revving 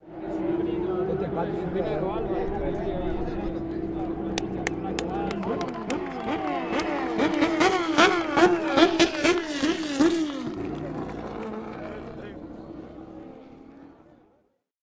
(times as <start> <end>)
3.4 14.3